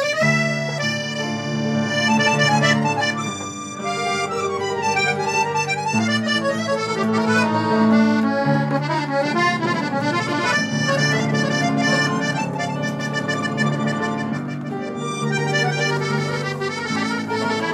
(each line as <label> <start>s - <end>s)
musicians improvising 0.0s - 17.7s